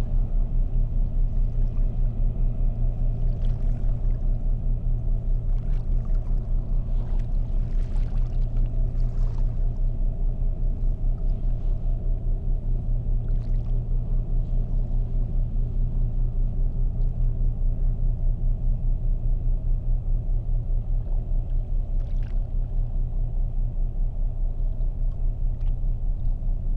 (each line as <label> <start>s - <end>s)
industrial boats are passing by 0.0s - 26.7s